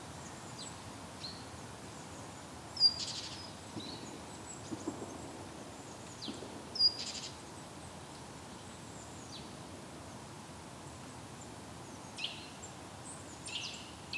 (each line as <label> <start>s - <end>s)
distant clay pigeon shooting 3.8s - 7.0s